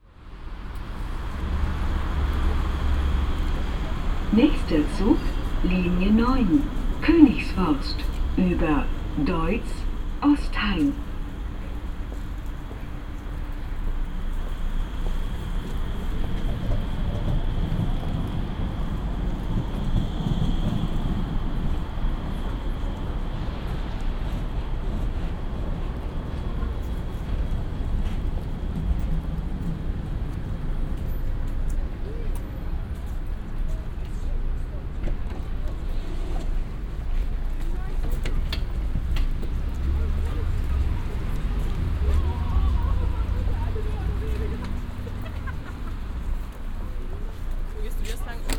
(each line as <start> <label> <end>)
47.7 konversationen im vorübergehen 48.5